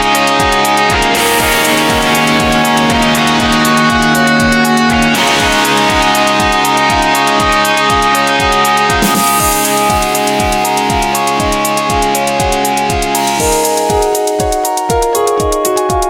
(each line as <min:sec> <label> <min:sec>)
0:00.0 guitar 0:16.0